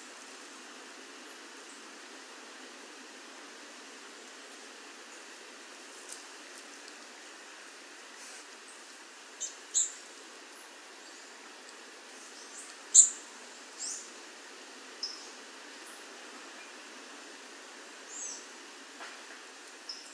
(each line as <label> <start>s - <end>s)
Wind 0.0s - 20.1s